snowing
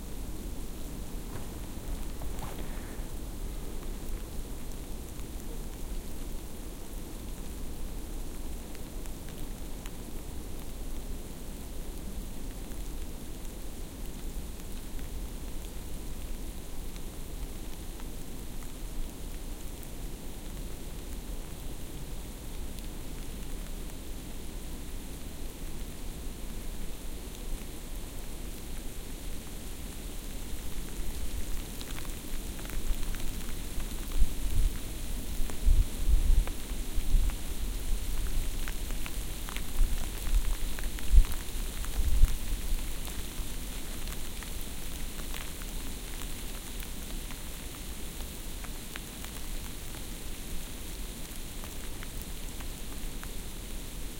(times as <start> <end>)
1.1 3.2